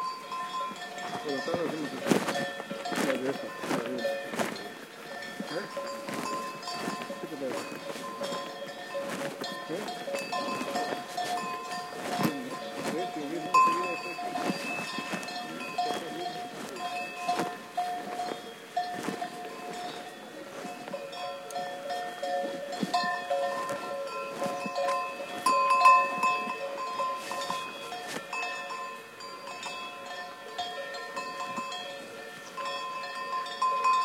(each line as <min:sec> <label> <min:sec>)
0:00.0 bells 0:34.0
0:00.0 cow grazing 0:34.0
0:01.1 voices in background 0:18.4